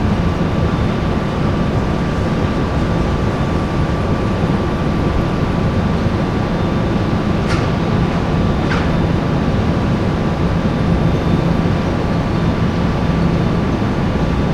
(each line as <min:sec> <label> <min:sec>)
0:07.0 cement factory 0:09.6